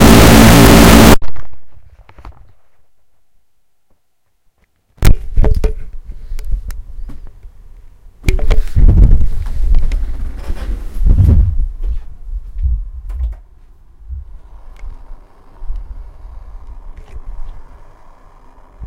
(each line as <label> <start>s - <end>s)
feedback 0.0s - 1.2s